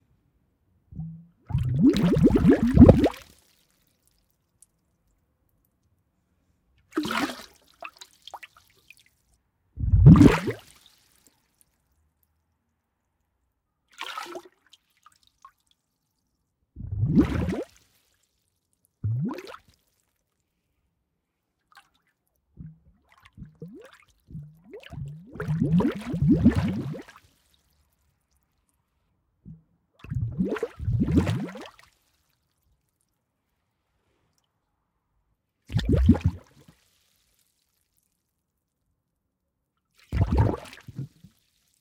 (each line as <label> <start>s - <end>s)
Air bubbles underwater 1.0s - 3.2s
Air bubbles underwater 9.8s - 10.7s
Air bubbles underwater 16.8s - 17.7s
Air bubbles underwater 19.0s - 19.6s
Air bubbles underwater 22.6s - 27.1s
Air bubbles underwater 29.5s - 31.7s
Air bubbles underwater 35.7s - 36.6s
Air bubbles underwater 40.1s - 41.3s